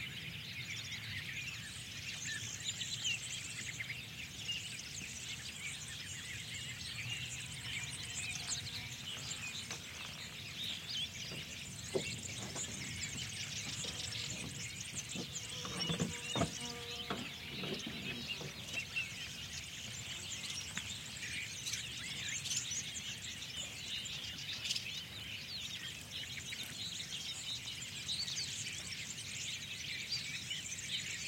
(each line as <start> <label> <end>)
0.0 bird tweets 31.2
13.8 insect buzz 18.6